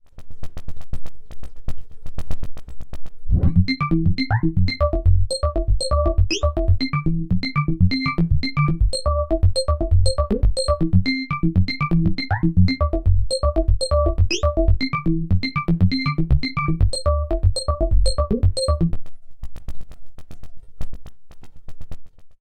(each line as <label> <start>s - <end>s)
bleepy loop 3.4s - 19.0s